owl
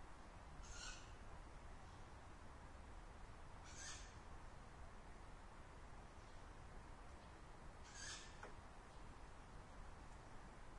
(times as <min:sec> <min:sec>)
0:00.6 0:01.2, 0:03.6 0:04.2, 0:07.8 0:08.5